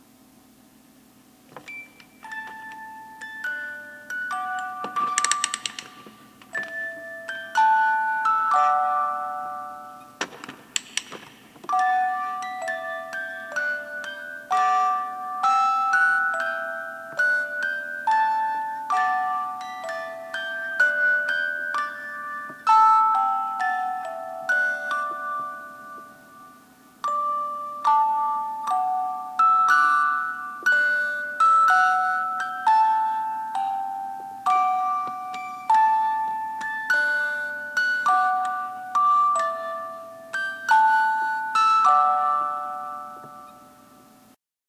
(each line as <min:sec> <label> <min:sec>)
0:02.2 windup fisher-price fake TV toy that played London bridges 0:10.1
0:11.0 windup fisher-price fake TV toy that played London bridges 0:44.2